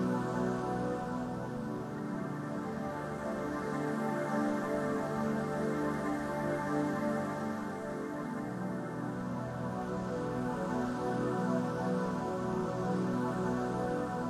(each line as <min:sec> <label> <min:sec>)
0:00.0 Music for movies 0:14.2